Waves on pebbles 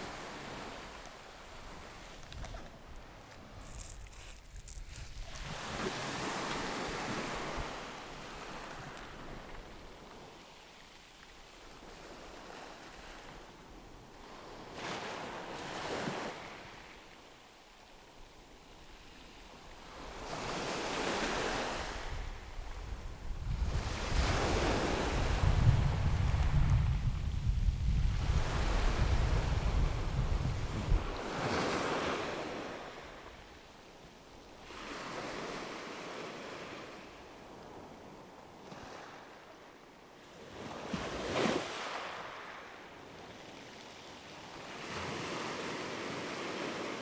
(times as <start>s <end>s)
3.4s 9.6s